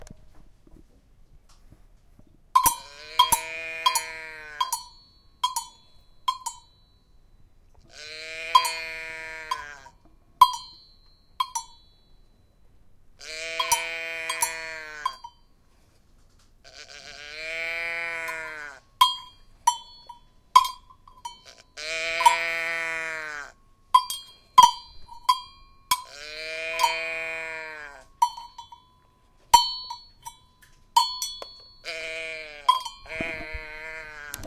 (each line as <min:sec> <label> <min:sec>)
0:02.6 agogo bells 0:07.6
0:02.6 cow with bell 0:16.0
0:10.4 agogo bells 0:12.7
0:16.8 cow with bell 0:34.4
0:19.0 agogo bells 0:22.6
0:23.9 agogo bells 0:26.2
0:28.2 agogo bells 0:34.0